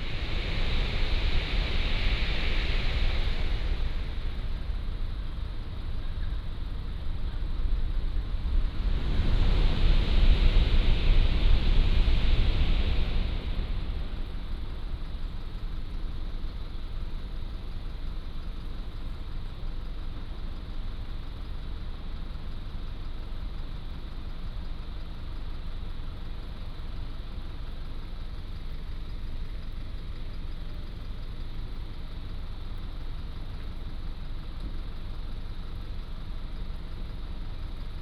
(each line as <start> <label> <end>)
0.0 High-speed train passing through 17.5